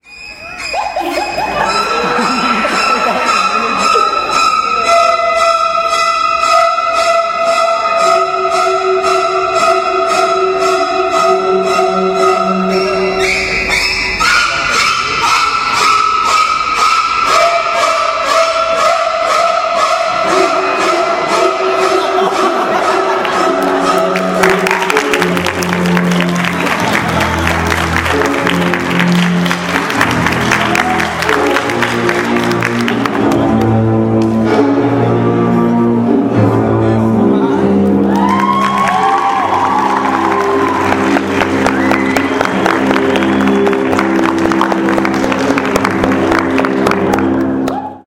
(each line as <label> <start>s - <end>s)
people 0.0s - 34.5s